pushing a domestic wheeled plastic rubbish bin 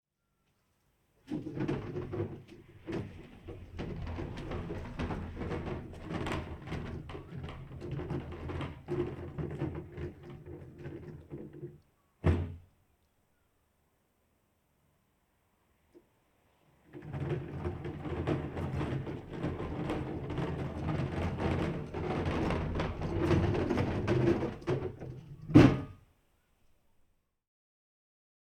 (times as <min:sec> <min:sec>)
0:01.2 0:12.6, 0:16.9 0:26.0